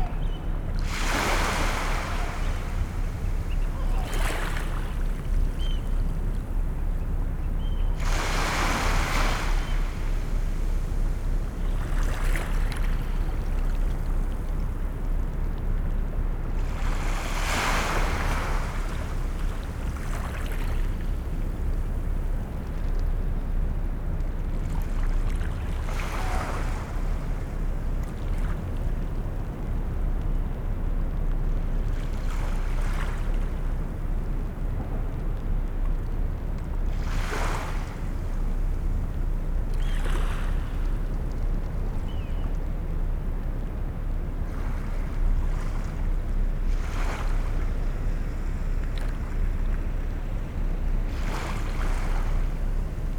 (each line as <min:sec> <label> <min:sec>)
0:00.0 lesser black-backed gull 0:00.7
0:00.0 herring gull 0:10.5
0:00.0 bird call from oystercatcher 0:14.2
0:00.0 boats 0:53.1
0:01.3 lesser black-backed gull 0:06.1
0:25.8 bird call from oystercatcher 0:27.7
0:25.8 herring gull 0:27.7
0:39.6 bird call from oystercatcher 0:42.8